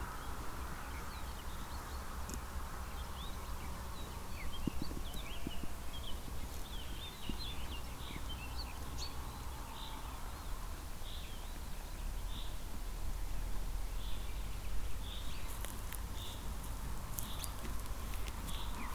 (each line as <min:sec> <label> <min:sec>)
0:00.0 Two sheeps eating grass 0:12.9
0:00.0 birds in the distant trees 0:18.9
0:00.0 drone of the traffic 0:18.9
0:00.0 mellow wind movements 0:18.9
0:13.5 Two sheeps eating grass 0:18.9